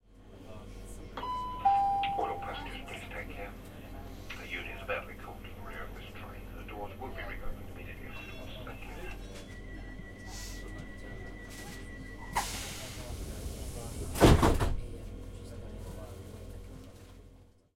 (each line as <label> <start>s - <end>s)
passenger talking 0.3s - 17.6s
announcement 1.2s - 3.6s
announcement 4.3s - 14.1s
door is opening and closing 14.0s - 14.8s